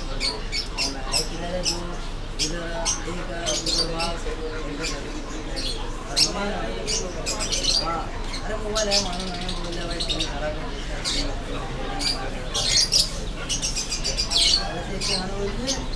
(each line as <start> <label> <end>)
0.0 birds 15.9